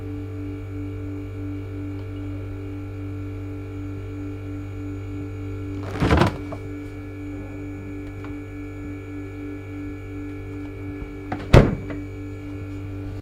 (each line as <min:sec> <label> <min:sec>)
0:00.0 fridge is humming 0:13.2
0:05.8 fridge door being opened and closed 0:06.7
0:11.0 fridge door being opened and closed 0:12.0